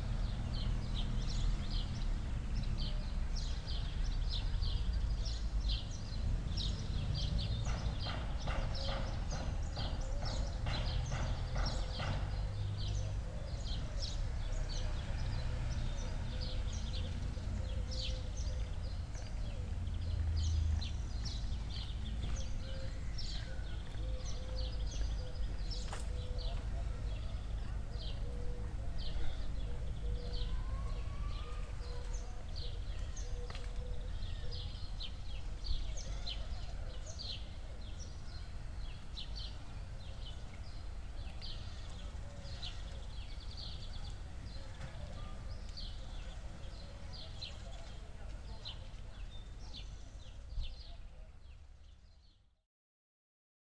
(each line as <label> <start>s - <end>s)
pigeons 6.9s - 38.3s